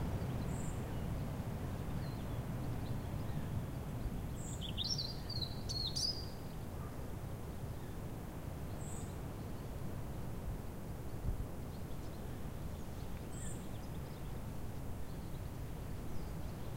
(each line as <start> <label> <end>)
0.0 strong wind in the canopy above 16.7
1.8 European Robin singing 6.6
11.7 European Robin singing 14.4